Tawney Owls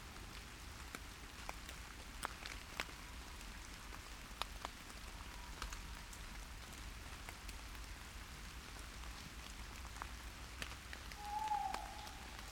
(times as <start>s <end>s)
11.2s 12.5s